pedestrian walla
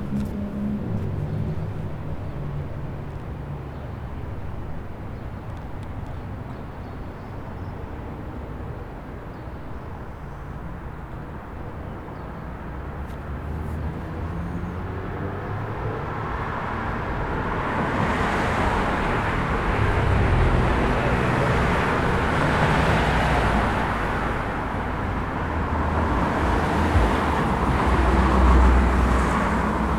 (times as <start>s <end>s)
18.5s 29.9s